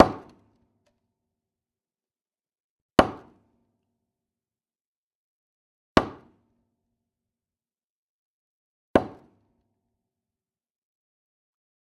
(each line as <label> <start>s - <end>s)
Tree stump hit four times with a hammer 0.0s - 0.5s
Tree stump hit four times with a hammer 3.0s - 3.5s
Tree stump hit four times with a hammer 6.0s - 6.4s
Tree stump hit four times with a hammer 9.0s - 9.4s